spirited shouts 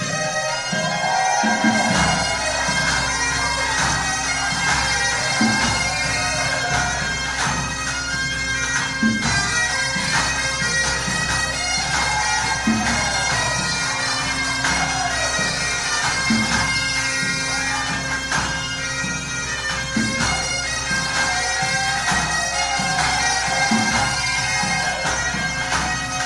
0.0 7.7, 11.4 18.4, 20.1 26.2

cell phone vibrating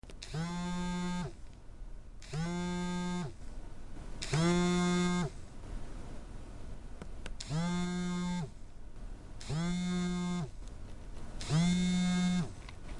0.2 1.4, 2.2 3.4, 4.2 5.4, 7.4 8.6, 9.4 10.5, 11.4 12.6

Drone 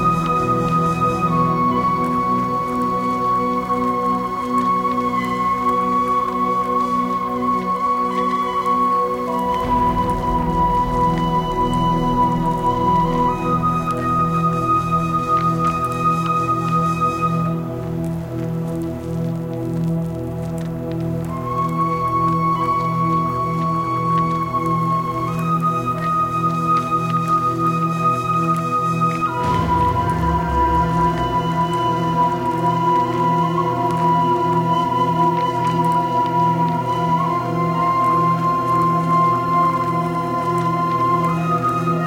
9.3 15.7, 29.4 33.2

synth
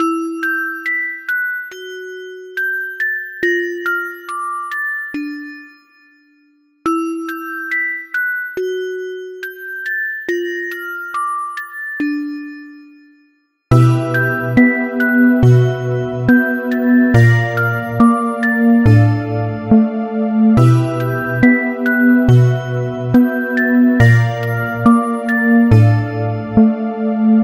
13.7 27.4

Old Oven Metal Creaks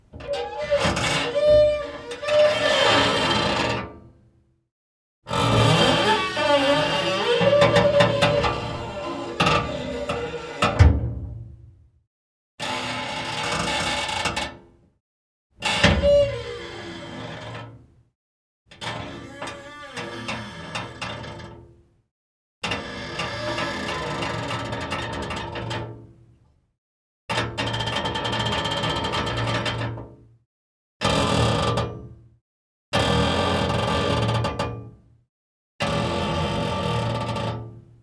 0.2 3.6, 5.5 11.1

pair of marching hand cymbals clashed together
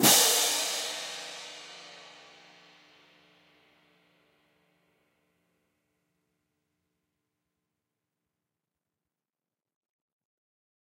0.0 2.6

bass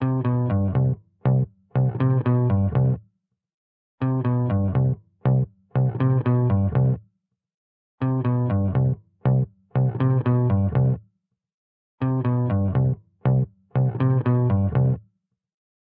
0.0 3.0, 4.0 7.0, 8.0 11.0, 12.0 15.1

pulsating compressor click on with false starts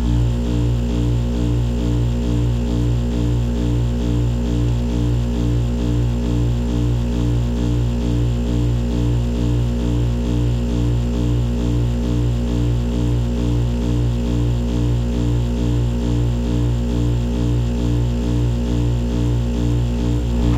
19.5 20.5

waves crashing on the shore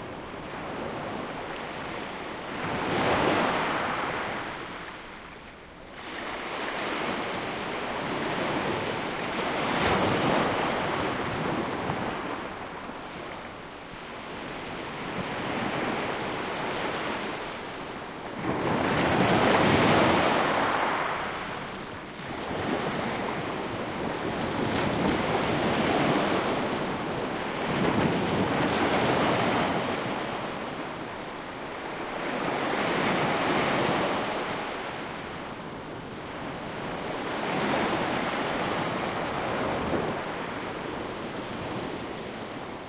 0.0 5.2, 14.1 42.8

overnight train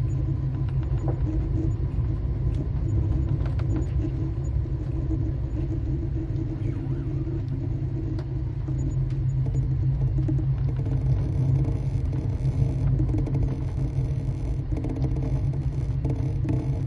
0.0 12.0

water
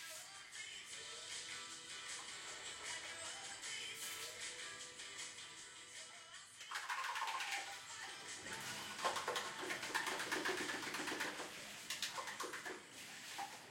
6.7 13.7

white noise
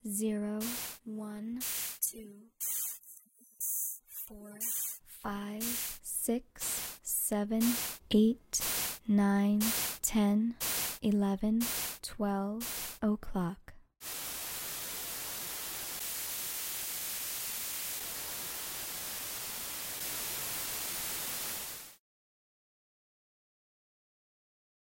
0.6 1.0, 4.6 5.0, 5.6 6.0, 6.6 7.0, 7.6 8.0, 8.6 9.0, 10.6 11.0, 11.6 12.0, 12.6 13.0, 14.0 22.0

